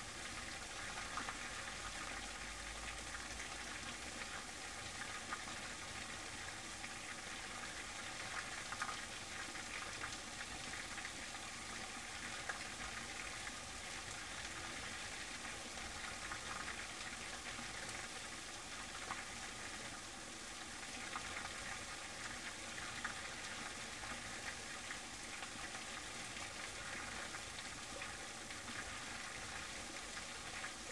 falling water in a small dam 0.0 - 30.9

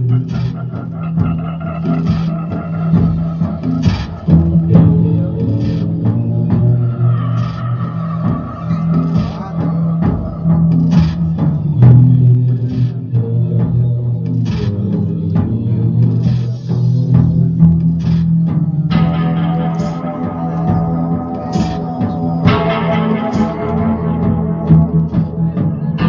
one song of their mood driving music 0.0 - 26.0

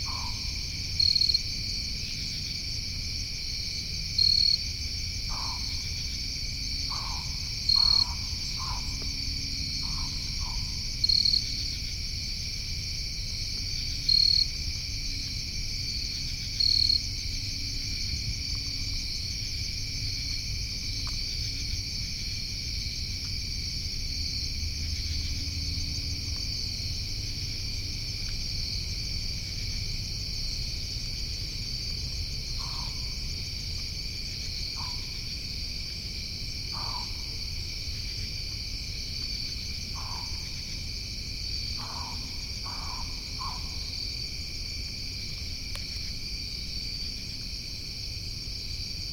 pine barrens tree frog can be faintly heard honking 0.0 - 1.5
Crickets 0.0 - 49.1
pine barrens tree frog can be faintly heard honking 5.3 - 6.2
pine barrens tree frog can be faintly heard honking 6.8 - 11.9
pine barrens tree frog can be faintly heard honking 32.4 - 33.3
pine barrens tree frog can be faintly heard honking 34.5 - 35.3
pine barrens tree frog can be faintly heard honking 36.7 - 38.2
pine barrens tree frog can be faintly heard honking 39.6 - 40.9
pine barrens tree frog can be faintly heard honking 41.6 - 44.2

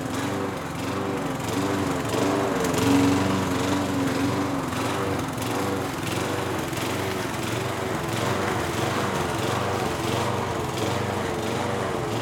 Lawn mower 0.0 - 12.2

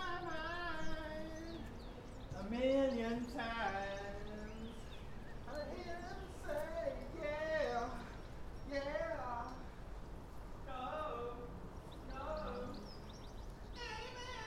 Man Singing 0.0 - 9.8
Man Singing 10.6 - 13.1
Man Singing 13.7 - 14.4

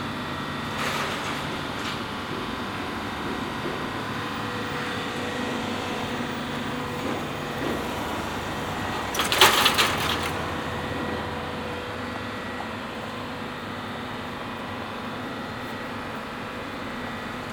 big street construction 0.0 - 17.5

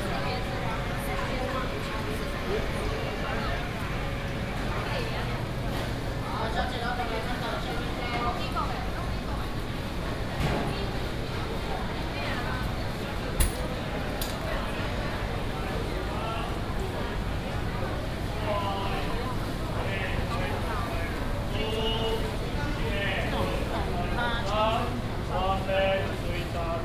Air conditioning noise 0.0 - 26.8

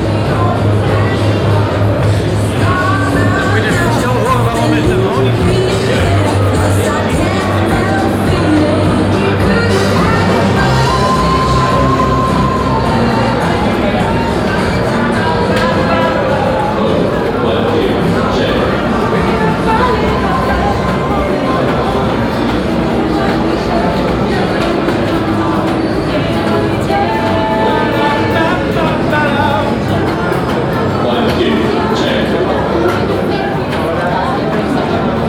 Walking through the electronic devices department 0.0 - 35.2
different kinds of music from the exhibitor stands 0.0 - 35.2
people crossing and talking 0.0 - 35.2

